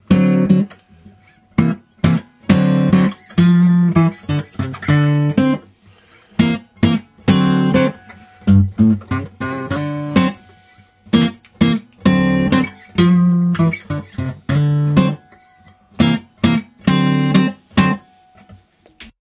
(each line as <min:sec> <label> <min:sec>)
0:00.0 guitar 0:19.2